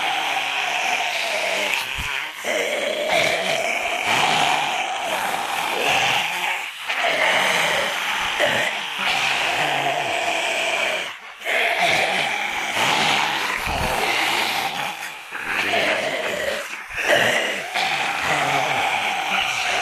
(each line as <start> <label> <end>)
0.0 smaller group of 2 zombies 19.8